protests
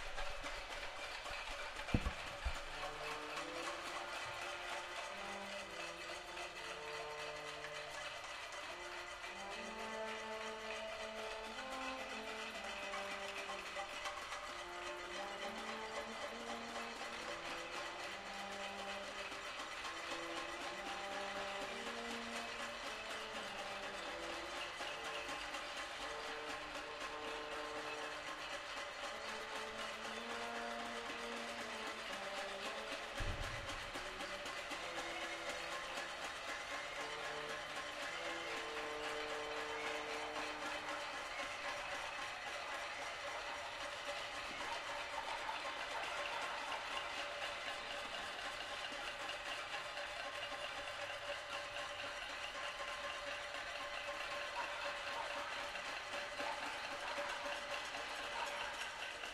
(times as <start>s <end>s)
53.4s 59.3s